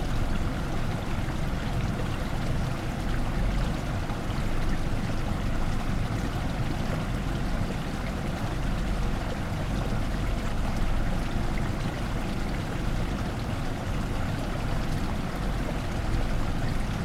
0.0s Water running from one pond to other 17.0s

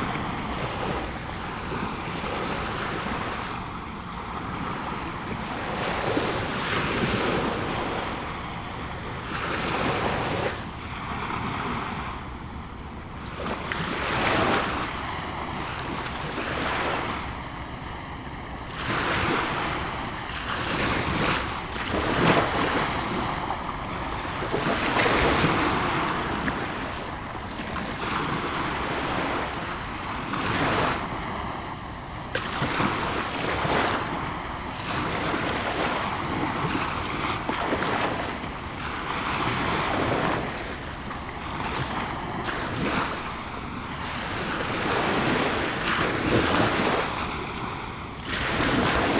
0.0s small waves 49.1s

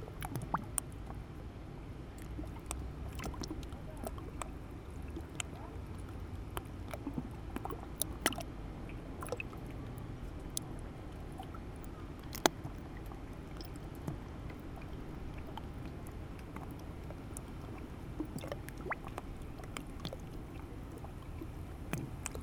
0.0s Small lapping on the surface 1.2s
2.2s Small lapping on the surface 9.6s
10.4s Small lapping on the surface 22.4s

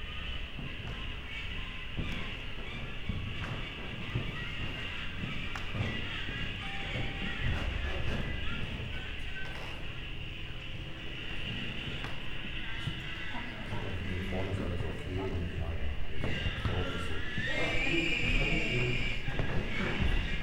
0.0s steps 20.4s

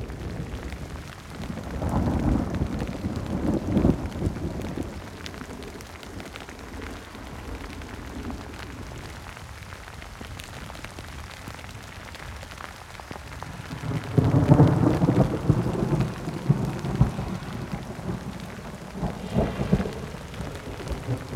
0.0s rain 21.3s
13.6s thunderclap 21.3s

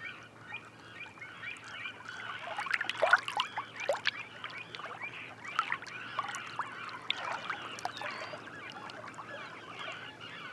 0.0s Black-winged Stilt 10.5s
0.0s Little Egret 10.5s

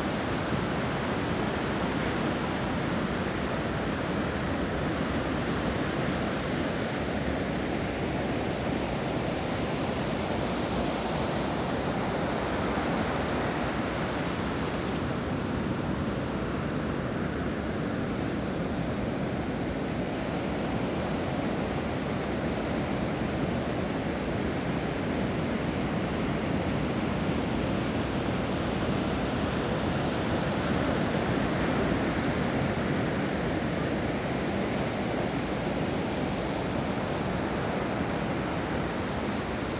0.0s waves 39.7s

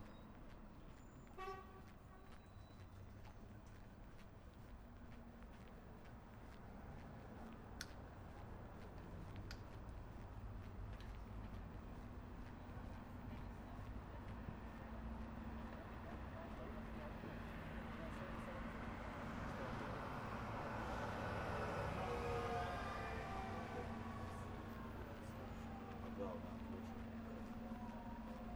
0.1s Walking 15.8s

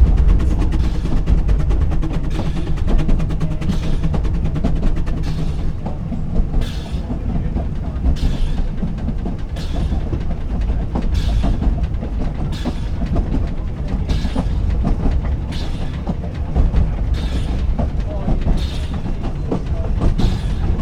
0.0s narrow guage steam train makes the easy descent 20.8s

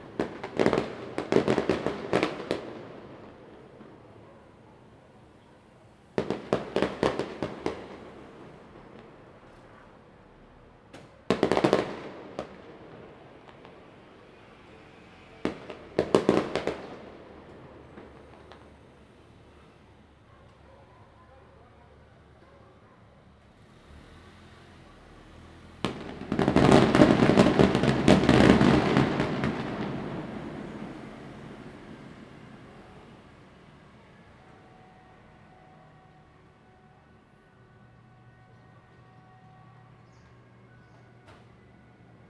0.0s fireworks 4.5s
0.0s Firecrackers 20.6s
6.1s fireworks 10.2s
10.9s fireworks 19.8s
23.6s Firecrackers 33.6s
25.8s fireworks 33.1s

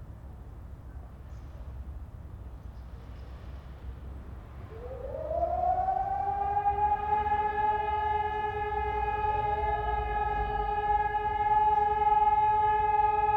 4.5s sirens testing 13.3s

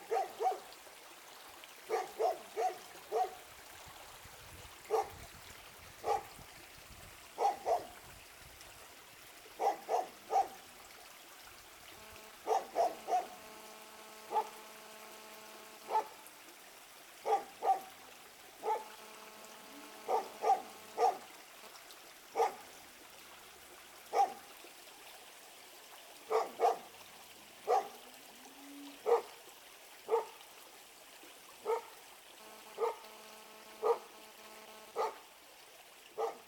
0.0s creek 36.4s
0.1s dog 0.7s
1.9s dog 3.4s
4.9s dog 5.1s
6.0s dog 6.3s
7.4s dog 7.9s
9.6s dog 10.6s
12.0s electromagnetic pollution 15.9s
12.5s dog 13.3s
15.9s dog 16.2s
17.2s dog 17.9s
18.6s dog 18.9s
20.1s dog 21.2s
22.4s dog 22.6s
24.1s dog 24.4s
26.3s dog 26.9s
27.7s dog 28.0s
29.0s dog 29.3s
30.1s dog 30.4s
31.6s dog 31.9s
32.4s electromagnetic pollution 35.1s
32.8s dog 33.0s
33.8s dog 34.1s
35.0s dog 35.2s
36.2s dog 36.4s

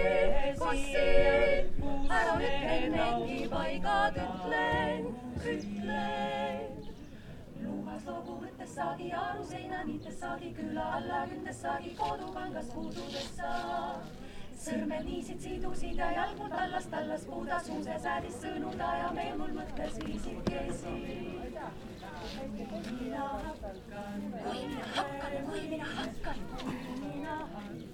0.0s women choir singing 27.9s

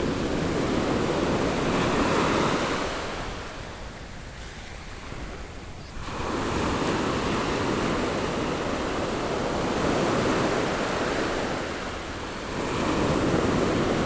0.0s the waves 14.0s

